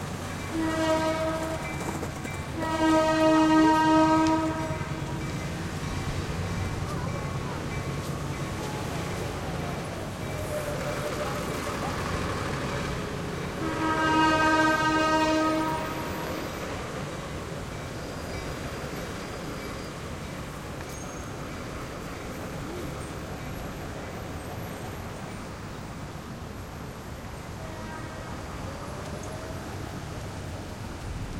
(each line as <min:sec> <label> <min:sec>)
0:00.0 Freight Train 0:31.3
0:00.6 Horn 0:01.6
0:02.6 Horn 0:04.8
0:13.6 Horn 0:16.2